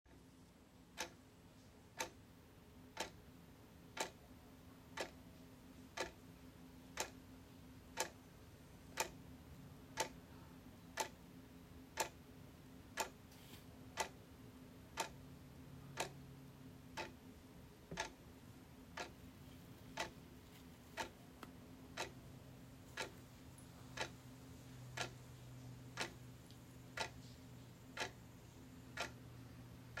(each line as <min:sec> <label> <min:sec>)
0:25.0 Ticking 0:25.2
0:29.0 Ticking 0:29.2